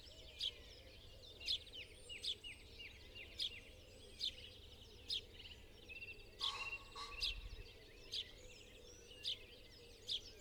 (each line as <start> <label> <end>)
6.4 crow 7.5
6.4 pheasant 7.8